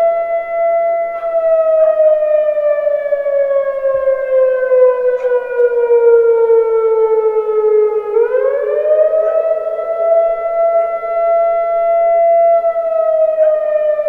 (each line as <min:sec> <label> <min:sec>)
0:00.0 Flood Siren 0:14.0